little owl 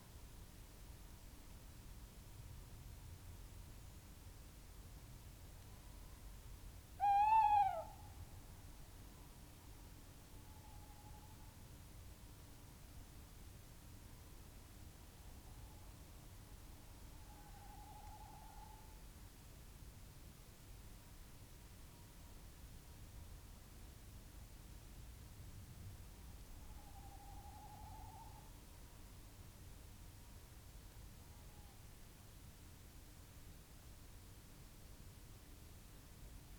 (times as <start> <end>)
7.0 8.0, 17.2 19.0, 26.6 28.6